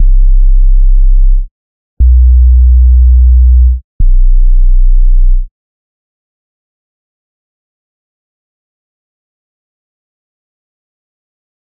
808 sub basslines 0.0 - 5.5

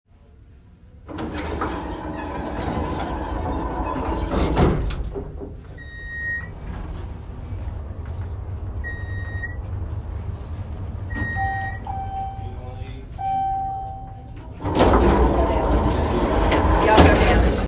Elevator doors closing and opening 0.8 - 17.6
ride up a few floors 1.0 - 17.6
Mechanical beep with each floor 5.8 - 6.6
Mechanical beep with each floor 8.8 - 9.6
Mechanical beep with each floor 11.1 - 14.4

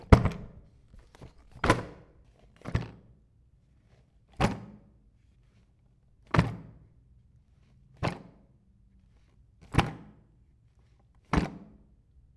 Dropping a small toolcase 0.0 - 1.9

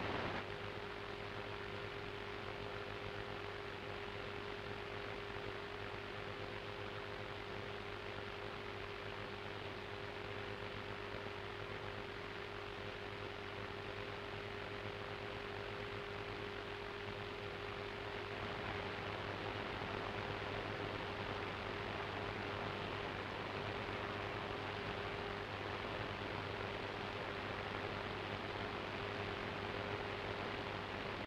radio static 0.0 - 0.4

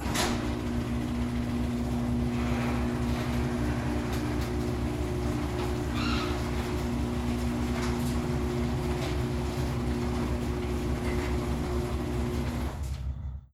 mechanical garage door opening 0.0 - 13.5

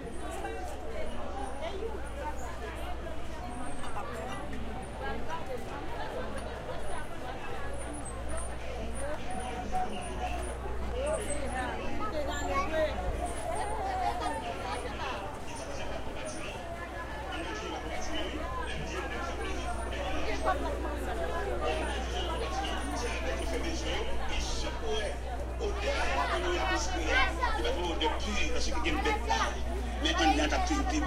PA voices pass by 0.0 - 31.0
people 0.0 - 31.0

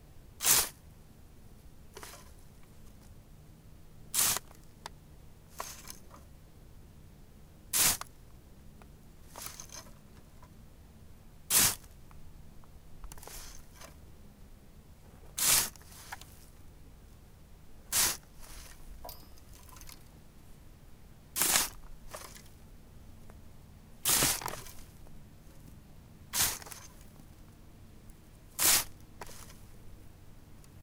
plastic rake being used as a shovel for coarse sand 0.4 - 0.8
plastic rake being used as a shovel for coarse sand 2.0 - 2.4
plastic rake being used as a shovel for coarse sand 4.2 - 4.6
plastic rake being used as a shovel for coarse sand 5.5 - 6.0
plastic rake being used as a shovel for coarse sand 7.8 - 8.1
plastic rake being used as a shovel for coarse sand 9.3 - 10.0
plastic rake being used as a shovel for coarse sand 11.5 - 12.0
plastic rake being used as a shovel for coarse sand 13.1 - 14.0
plastic rake being used as a shovel for coarse sand 15.4 - 16.5
plastic rake being used as a shovel for coarse sand 17.9 - 18.9
plastic rake being used as a shovel for coarse sand 21.4 - 22.5
plastic rake being used as a shovel for coarse sand 24.0 - 25.0
plastic rake being used as a shovel for coarse sand 26.3 - 27.1
plastic rake being used as a shovel for coarse sand 28.6 - 29.6

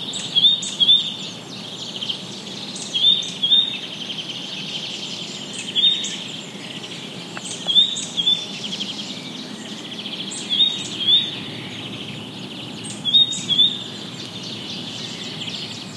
Cuckoo 0.0 - 1.2
Blackbird 0.0 - 15.9
Great Tit in foreground 0.0 - 15.9
Warbler 0.0 - 15.9
Azure-winged Magpie 0.1 - 15.9
distant voices 5.0 - 15.9
Cuckoo 13.0 - 15.9

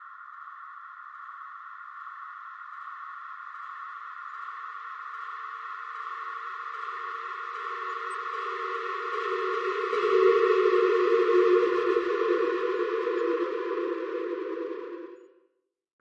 space ship flying overhead 7.5 - 15.3

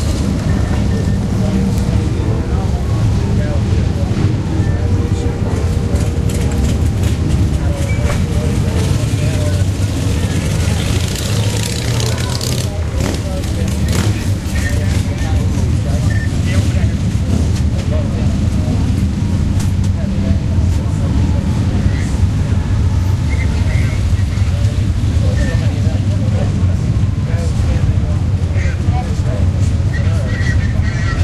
RV's go by 0.0 - 31.2
cyclists 0.0 - 31.2
beeps 16.0 - 16.7

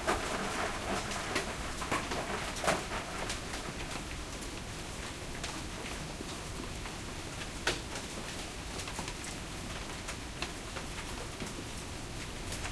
Hailstorm 0.0 - 5.7

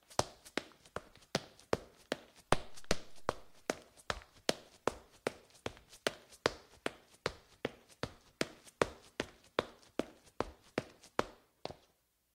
Sneakers on tile, running 0.0 - 11.9

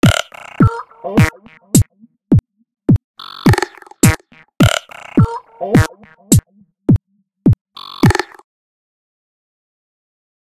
beat 0.0 - 8.4

